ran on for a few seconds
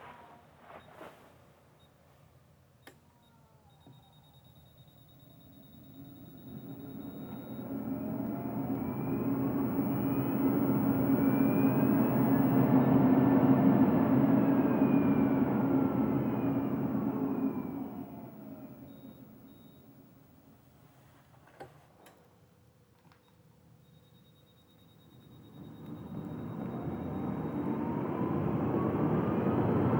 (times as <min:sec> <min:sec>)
0:05.2 0:20.4, 0:25.1 0:29.9